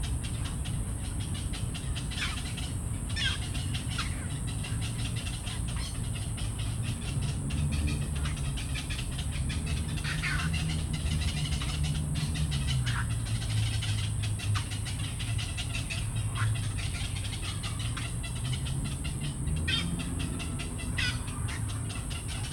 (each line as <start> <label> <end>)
0.0 Bird sounds 22.5
0.0 traffic 22.5